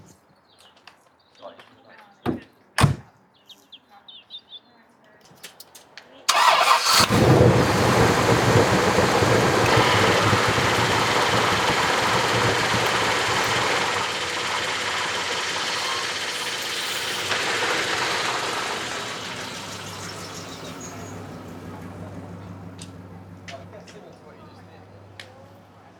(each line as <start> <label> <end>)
6.3 Bentley Engine Start Up 25.9